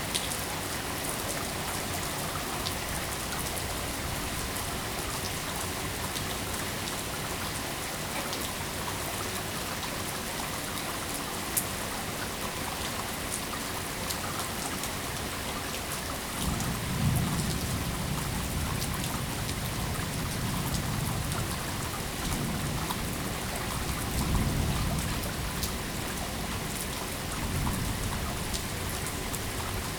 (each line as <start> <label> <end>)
0.0 rain running off a roof 29.9